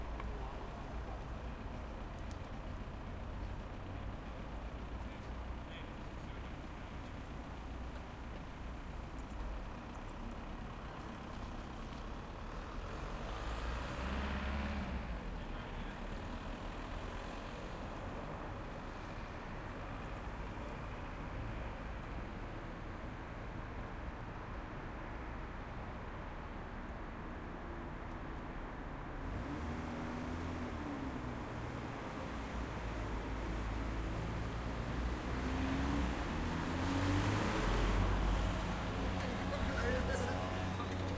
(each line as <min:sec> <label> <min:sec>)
0:00.0 light traffic 0:41.1
0:37.8 tram passing through an intersection 0:41.1